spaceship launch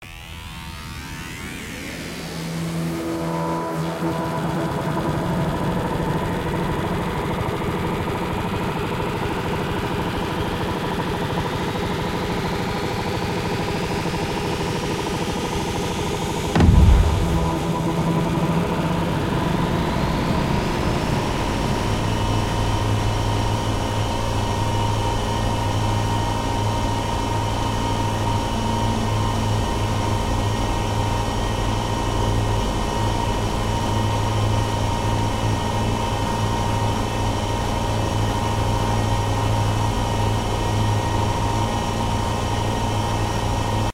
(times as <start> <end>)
16.6 20.3